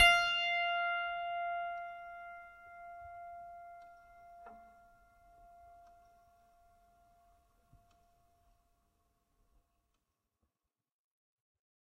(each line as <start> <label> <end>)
0.0 piano strings played with a finger 6.8